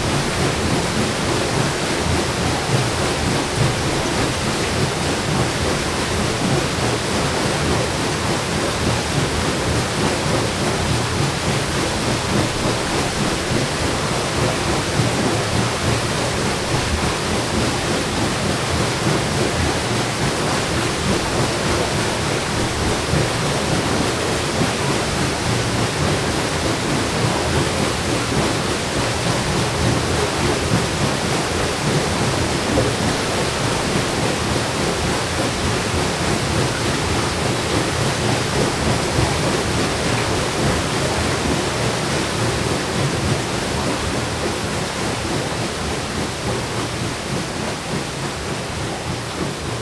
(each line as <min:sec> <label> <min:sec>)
0:00.0 stowed water floats into the mills wheel room 0:49.8